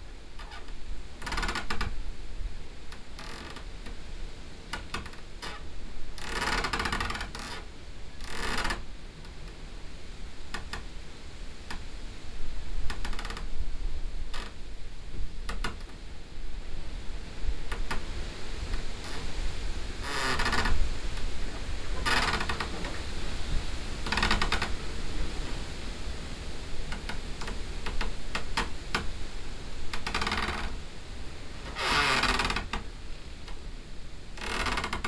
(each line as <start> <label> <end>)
17.2 tree scraping in tree hut 29.3